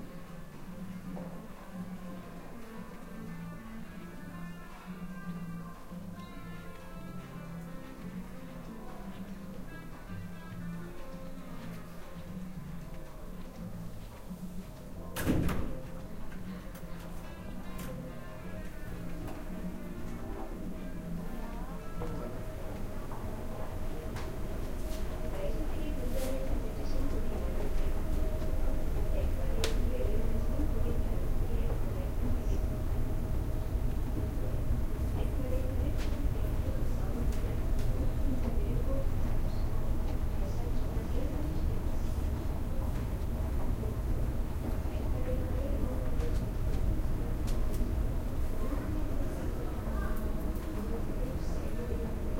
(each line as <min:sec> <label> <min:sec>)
0:00.0 Music 0:52.3
0:00.0 Walking in a boutique 0:52.3
0:15.2 door 0:15.8
0:20.8 people talking 0:24.4
0:25.0 people talking 0:32.9
0:34.2 people talking 0:46.7
0:48.5 people talking 0:52.3